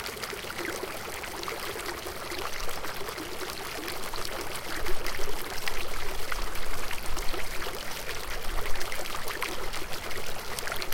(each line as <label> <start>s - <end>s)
Water feature consisting of several angled spigots 0.0s - 10.9s